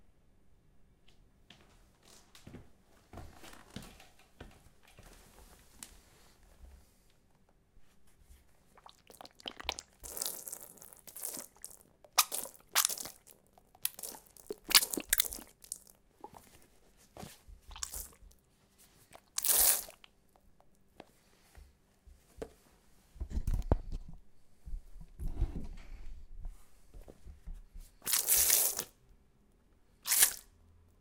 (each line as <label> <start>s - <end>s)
Water slpash on carpet 8.8s - 16.5s
Water slpash on carpet 17.7s - 18.2s
Water slpash on carpet 19.1s - 20.1s
Water slpash on carpet 28.0s - 28.9s
Water slpash on carpet 30.0s - 30.4s